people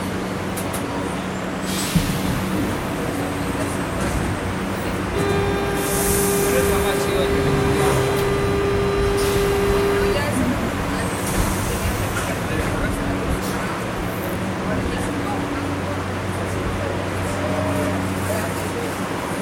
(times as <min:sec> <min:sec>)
0:05.2 0:19.0